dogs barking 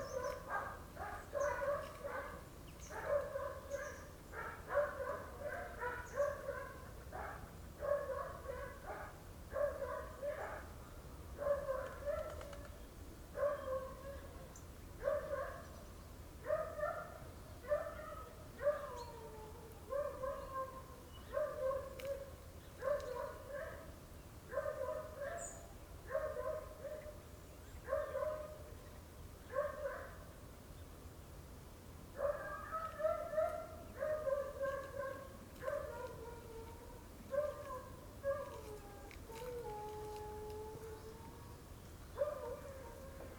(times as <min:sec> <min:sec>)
0:00.1 0:10.7, 0:11.4 0:12.5, 0:13.4 0:14.3, 0:15.0 0:15.7, 0:16.4 0:19.1, 0:19.9 0:23.9, 0:24.5 0:27.2, 0:27.8 0:28.7, 0:29.5 0:30.2, 0:32.2 0:39.6, 0:42.2 0:43.3